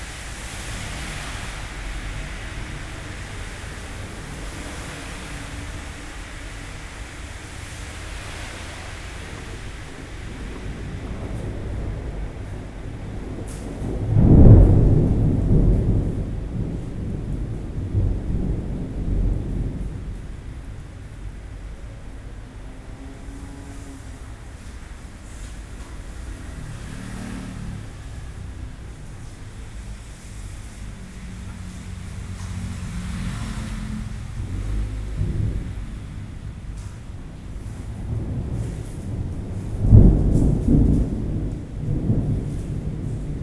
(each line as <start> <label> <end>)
0.0 Thunderstorm 43.4